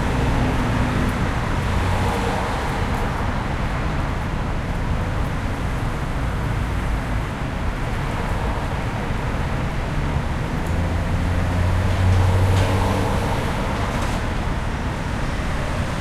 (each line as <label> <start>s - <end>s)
Traffic 0.0s - 16.0s